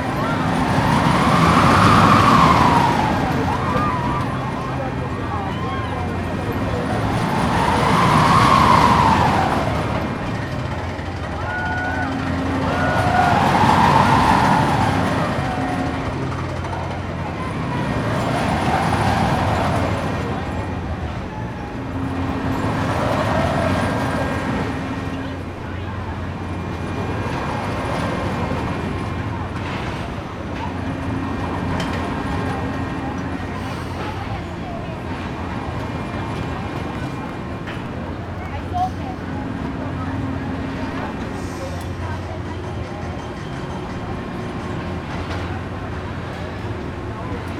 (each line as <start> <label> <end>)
0.0 state fair circle ride 47.5